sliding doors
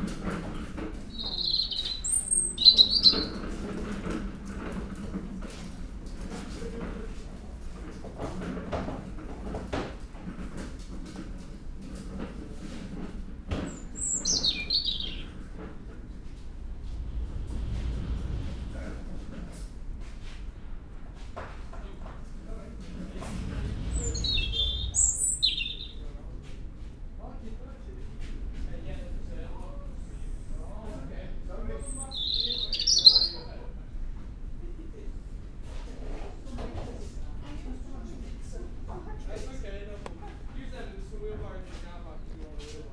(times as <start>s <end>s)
15.3s 26.2s